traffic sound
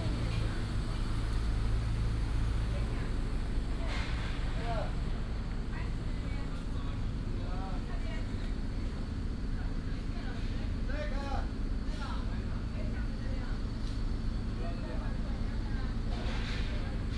0:00.0 0:06.5

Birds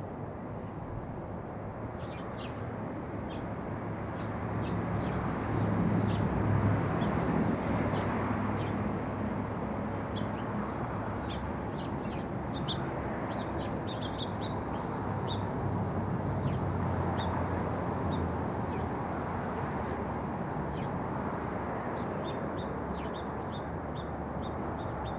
0:01.2 0:06.3, 0:09.5 0:15.5, 0:18.1 0:21.0, 0:21.8 0:25.1

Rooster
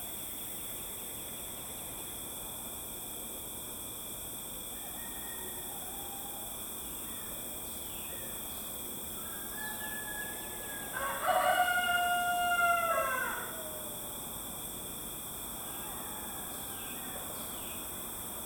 0:04.7 0:07.3, 0:09.2 0:14.1, 0:15.6 0:17.3

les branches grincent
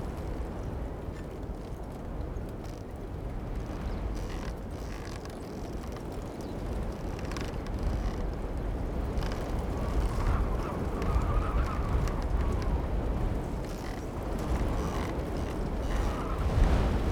0:03.7 0:17.0

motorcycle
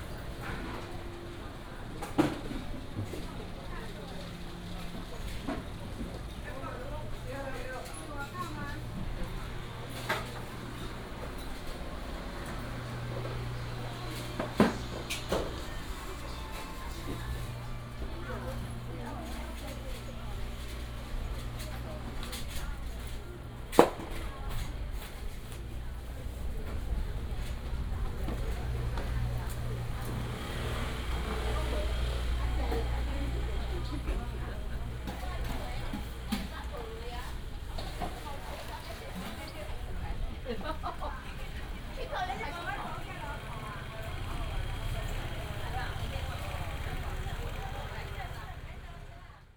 0:43.5 0:49.0

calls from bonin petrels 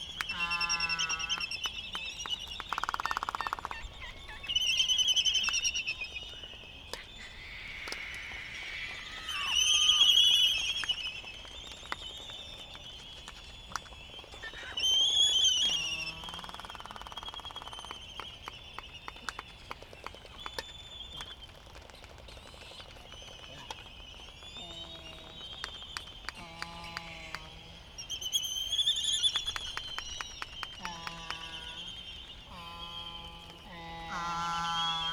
0:00.0 0:01.9, 0:02.7 0:06.0, 0:06.9 0:11.1, 0:14.4 0:18.0, 0:26.2 0:35.1

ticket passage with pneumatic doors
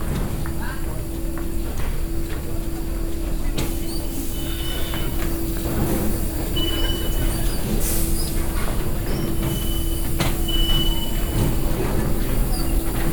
0:03.6 0:13.1

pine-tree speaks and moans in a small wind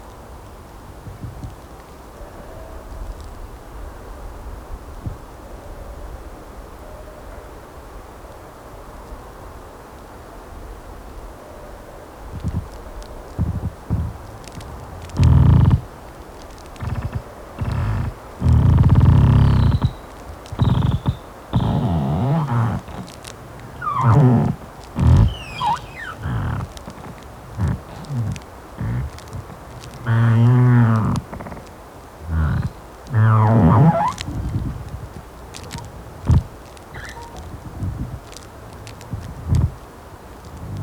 0:12.4 0:40.8

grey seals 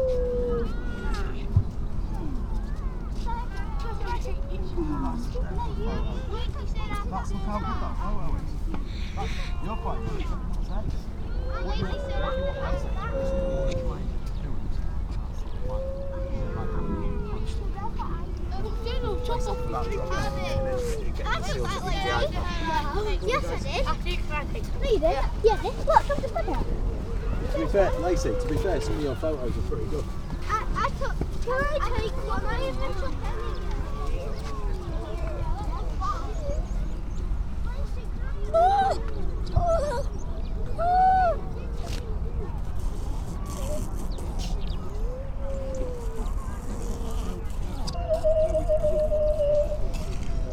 0:00.0 0:01.5, 0:08.8 0:37.3, 0:40.8 0:50.5

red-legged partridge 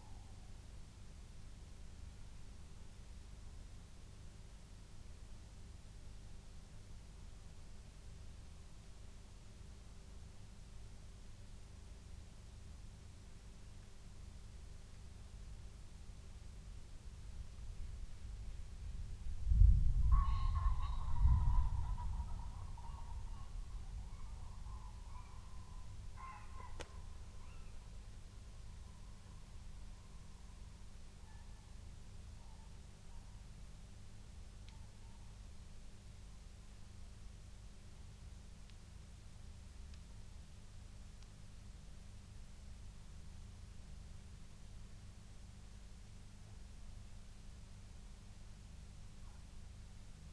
0:20.1 0:27.8

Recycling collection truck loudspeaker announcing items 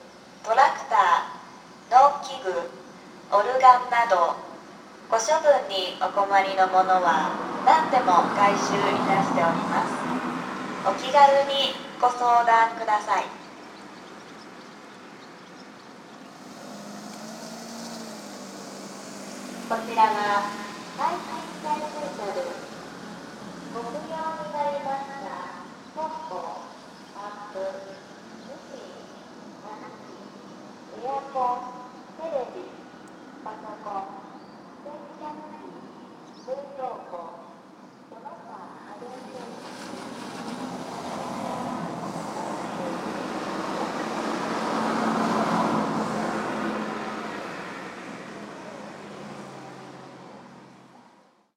0:00.4 0:13.5, 0:19.6 0:30.2, 0:30.9 0:32.8, 0:33.4 0:39.8, 0:41.1 0:49.9

